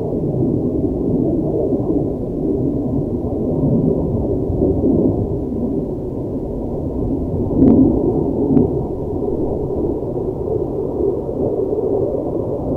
Airplanes flying over Owens Lake 0:00.0 - 0:12.7

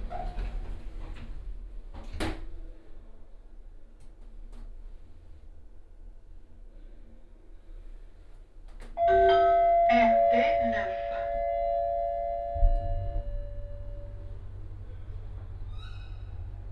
elevator 0:09.0 - 0:16.7

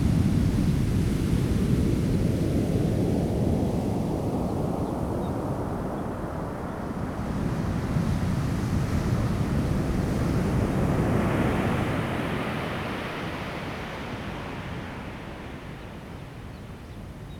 waves 0:06.4 - 0:17.3

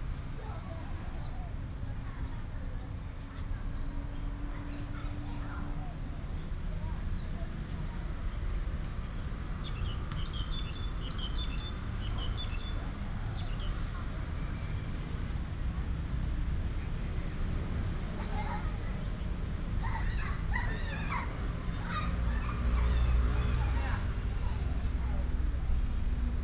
Traffic sound 0:00.0 - 0:26.4
Child 0:18.1 - 0:19.2
Child 0:19.8 - 0:25.3

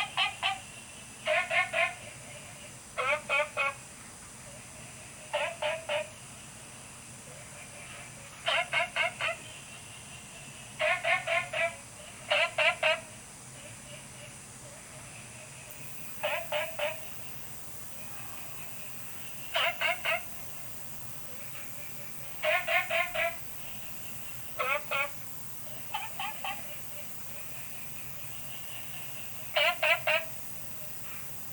Frogs chirping 0:15.7 - 0:31.5
Insects sounds 0:15.7 - 0:31.5

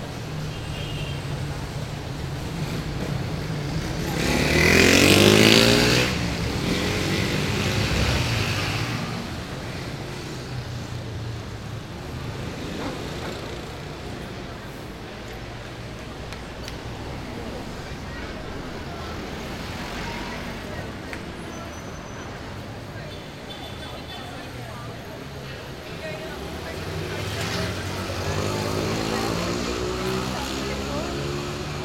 Cars and motorcycles pass by 0:00.0 - 0:31.8
people walk around 0:00.0 - 0:31.8

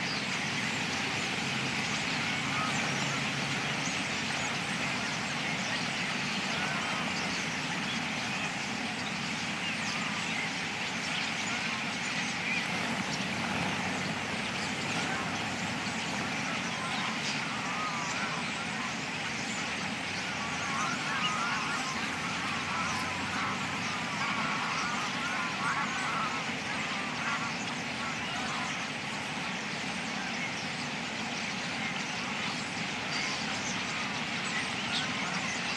Greylag geese flew over 0:00.0 - 0:35.7
Mallard and other wildfowl 0:00.0 - 0:35.7
Starlings coming in to roost after murmuration 0:00.0 - 0:35.7
light aircraft 0:00.0 - 0:35.7

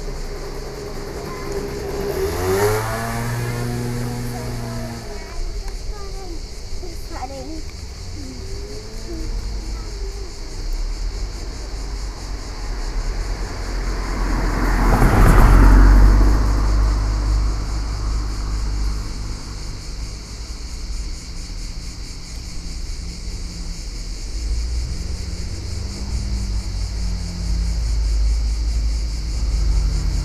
car 0:00.0 - 0:30.2
cicadas 0:00.0 - 0:30.2
voice 0:00.8 - 0:10.7

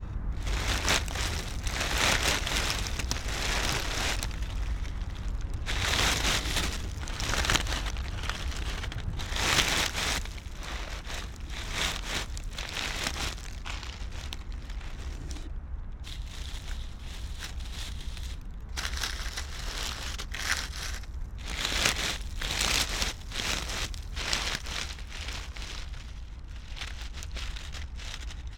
took a bunch of leafs and shaked them 0:00.4 - 0:28.5

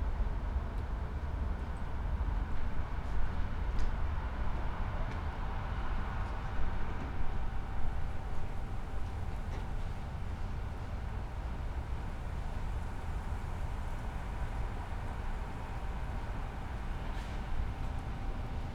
night streets 0:00.0 - 0:18.7

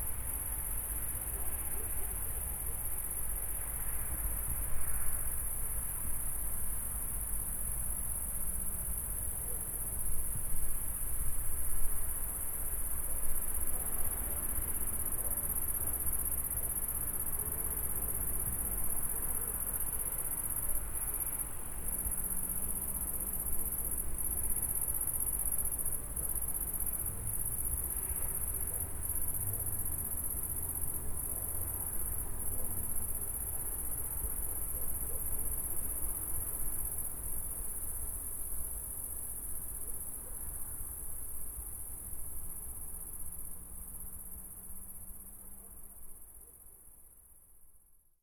intense cricket sounds 0:00.0 - 0:47.9
omnipresent traffic 0:00.1 - 0:37.6

